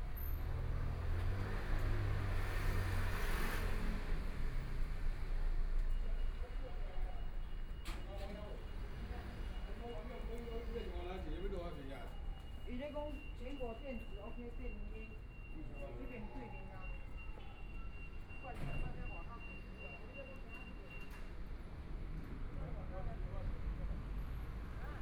Traffic Sound 0:00.0 - 0:25.0
walking In the Street 0:00.0 - 0:25.0

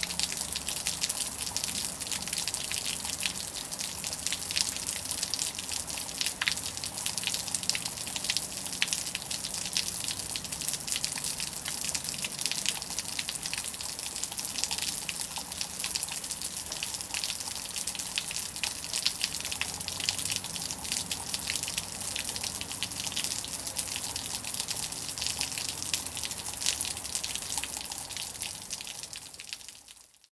Heavy rain, damaged eaves gutter 0:00.0 - 0:30.1

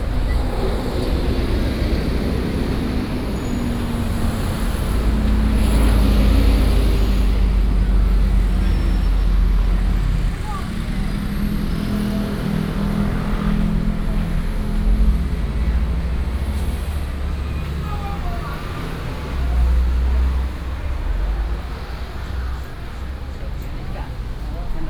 Traffic Sound 0:00.0 - 0:24.8

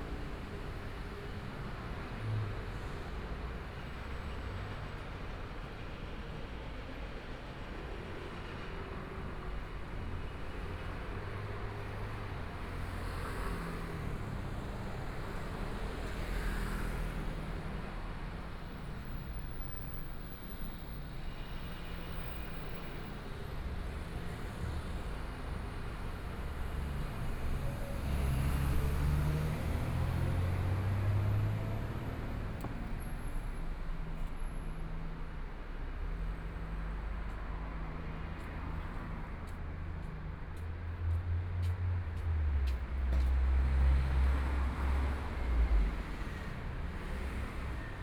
Traffic Sound 0:00.0 - 0:48.0
Walking across the different streets 0:23.6 - 0:48.0

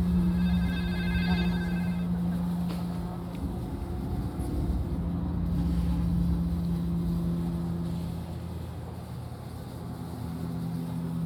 multi channel sound installation 0:00.0 - 0:04.3

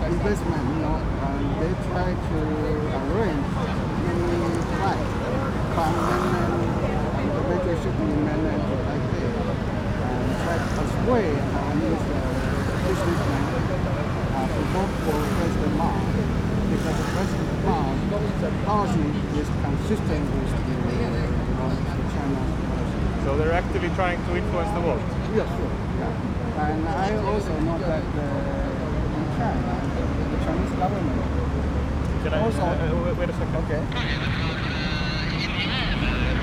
Reporters interviewed 0:00.0 - 0:36.4
Traffic Sound 0:00.0 - 0:36.4
Election Parade 0:33.8 - 0:36.4

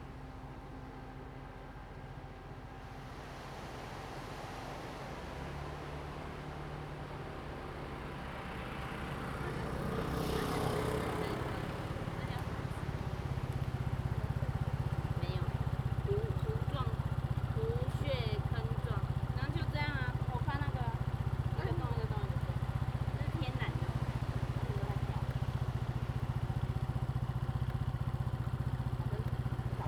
Traffic Sound 0:00.0 - 0:29.8
waves 0:02.2 - 0:15.8

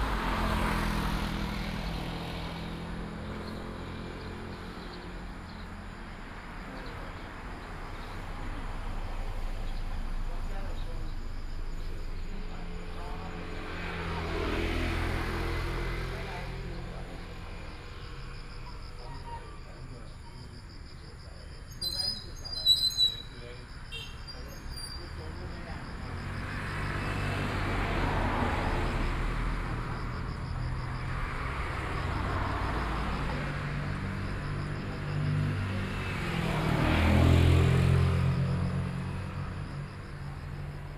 Insect sounds 0:00.0 - 0:40.9
old couple 0:00.0 - 0:40.9
traffic sound 0:00.0 - 0:40.9
Bird call 0:21.7 - 0:25.1

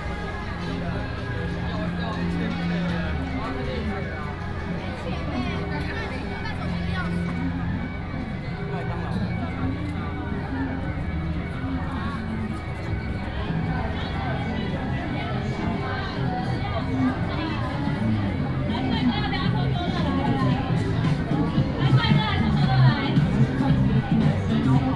Walking in the crowd 0:00.0 - 0:24.9

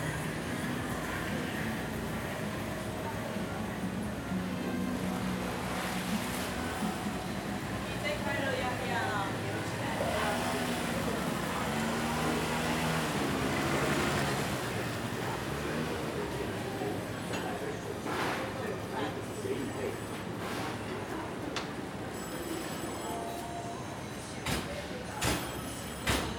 Walking in a small alley 0:00.0 - 0:26.3
Traffic Sound 0:04.7 - 0:23.5

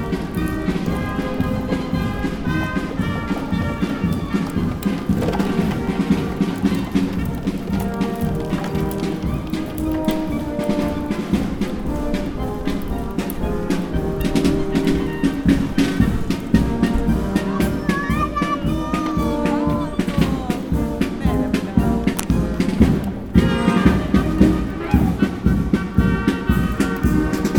firemen streetmusic 0:00.0 - 0:27.5
talks in the background 0:11.9 - 0:25.5

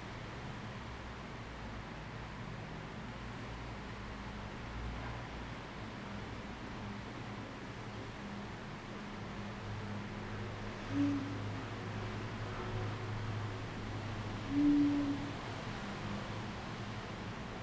wind 0:00.0 - 0:17.6

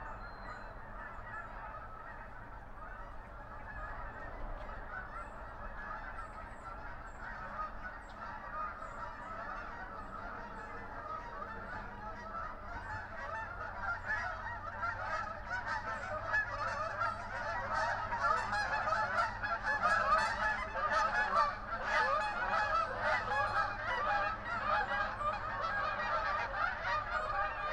geese 0:00.0 - 0:27.7
mallards 0:00.0 - 0:27.7
road traffic noise 0:00.7 - 0:27.7

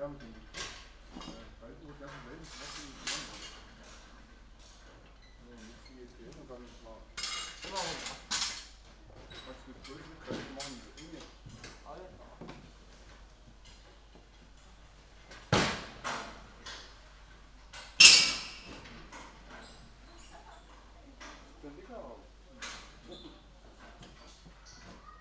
scaffolders at work 0:00.0 - 0:25.2

